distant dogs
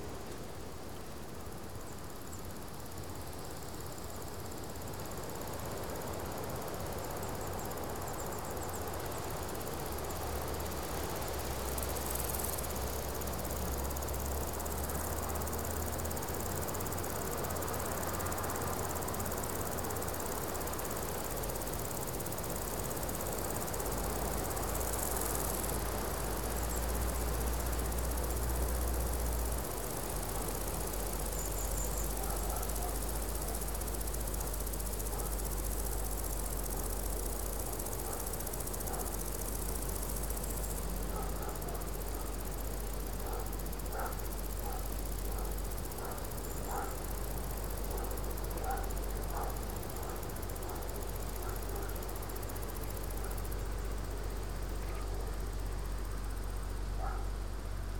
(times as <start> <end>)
32.1 33.1, 38.0 39.2, 41.0 42.3, 43.1 52.1, 57.0 57.3